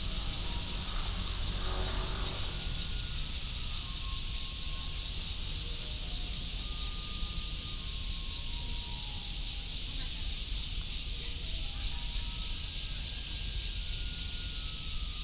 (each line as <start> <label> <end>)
0.0 traffic sound 7.7
0.0 Cicadas 15.2